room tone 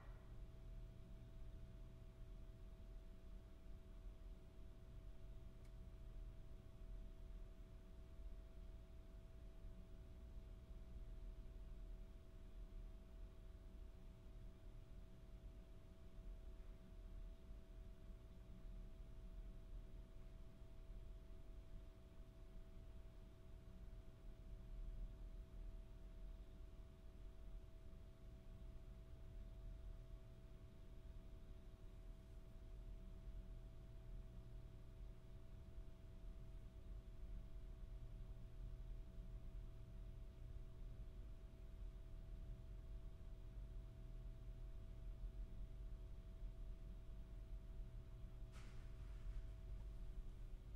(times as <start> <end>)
24.2 50.7